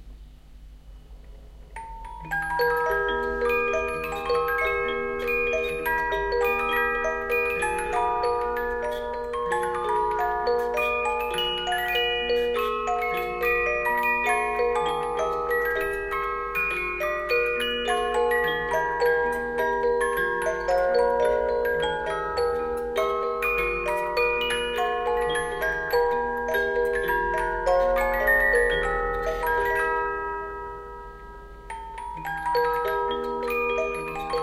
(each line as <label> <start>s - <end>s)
music-box Symphonion playing the tune 1.8s - 34.4s